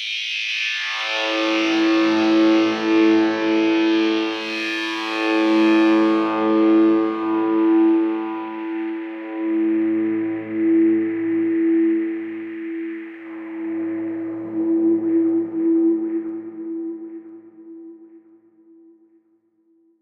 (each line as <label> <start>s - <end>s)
feedback 3.8s - 19.0s